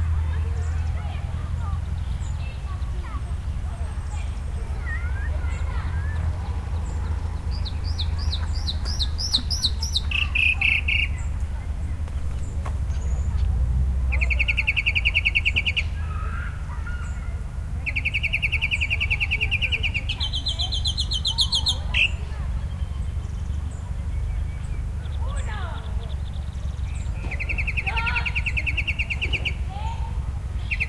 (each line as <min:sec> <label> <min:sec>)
0:00.0 kids 0:30.8
0:00.0 wind 0:30.8
0:00.4 bird 0:30.0
0:30.6 bird 0:30.8